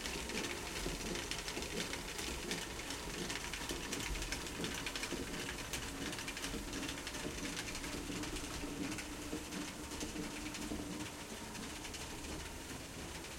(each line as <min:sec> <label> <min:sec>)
0:00.0 generator outside powers a belt driven stone wheel 0:13.3
0:00.0 stone mill wheel grinding dry corn for flour 0:13.3